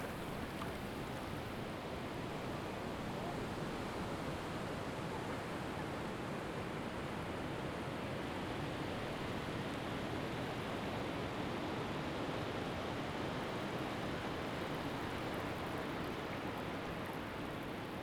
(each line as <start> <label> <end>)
0.0 knee-deep water 1.6